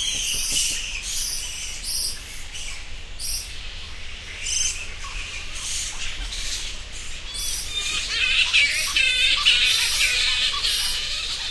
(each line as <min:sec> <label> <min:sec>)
0:00.0 bat colony 0:11.5